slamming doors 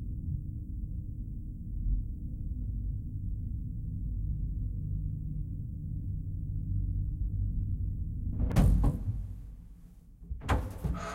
0:08.4 0:09.7, 0:10.3 0:11.1

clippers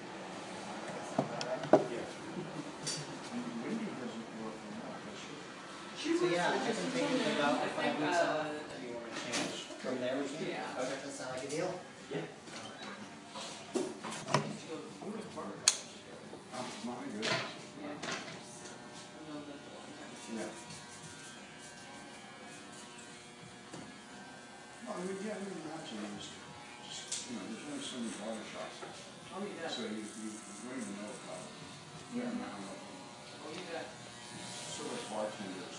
0:28.3 0:35.7

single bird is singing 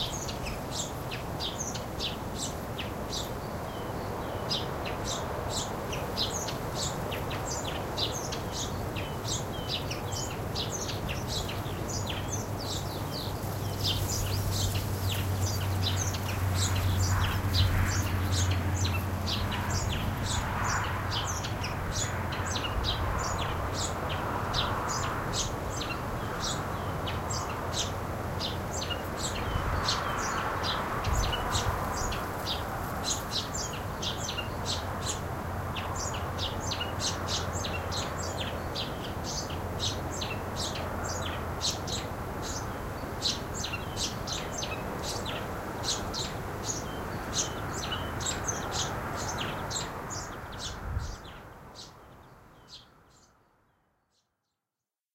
0:35.8 0:53.5

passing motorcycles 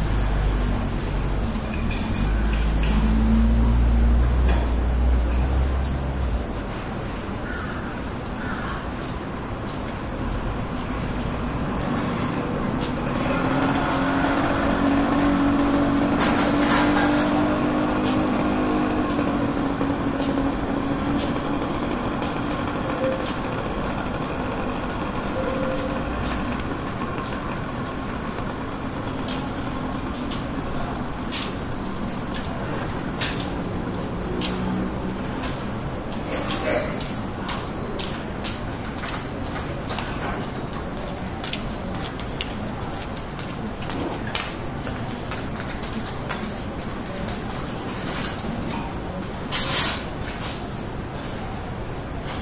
0:11.4 0:31.2

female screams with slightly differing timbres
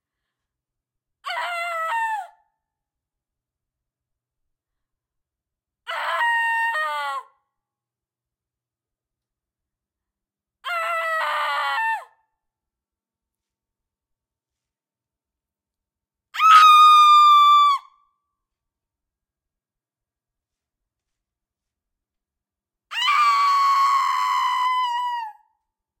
0:16.4 0:17.9

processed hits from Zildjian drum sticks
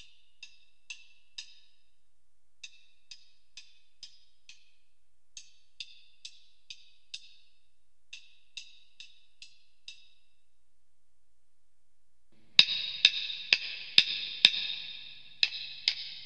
0:08.1 0:10.3, 0:12.3 0:16.2

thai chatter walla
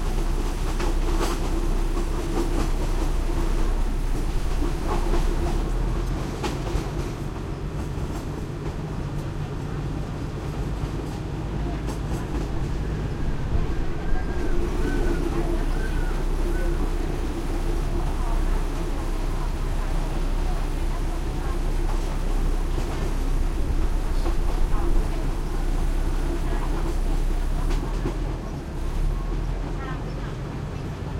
0:08.5 0:31.1

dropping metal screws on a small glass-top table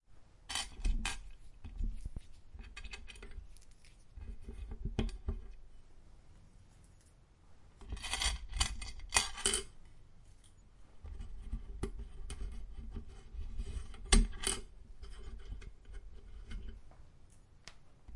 0:00.5 0:01.8, 0:07.8 0:09.7

